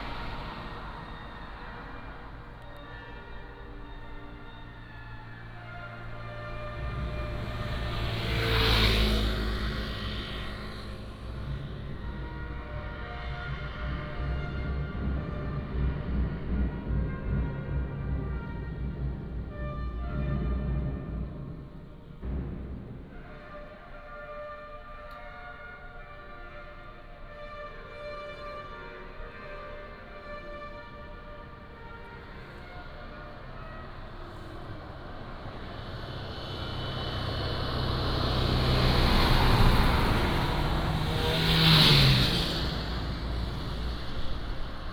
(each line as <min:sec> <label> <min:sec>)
0:00.0 Traffic Sound 0:44.9
0:08.5 voice of the school orchestra 0:36.5